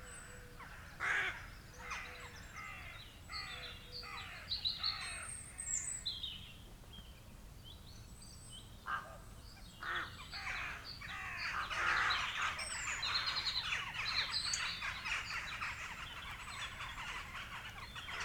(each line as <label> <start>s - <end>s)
crow 0.0s - 5.9s
crow 8.9s - 9.2s
crow 9.8s - 18.2s
pheasant 9.8s - 18.2s